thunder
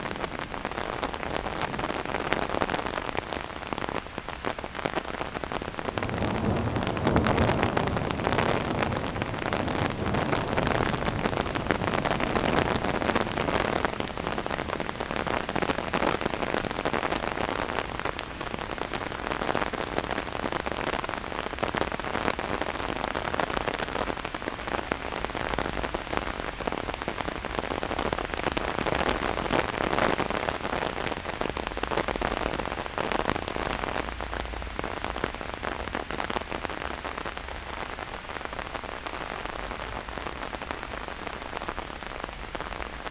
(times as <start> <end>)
5.3 21.0